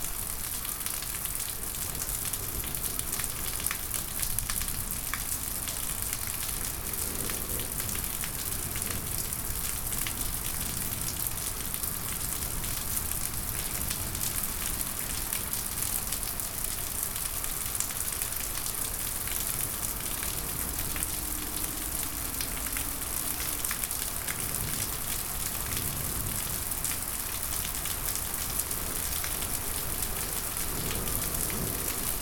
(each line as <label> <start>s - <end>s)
thunderstorm 5.4s - 13.1s
thunderstorm 28.2s - 32.2s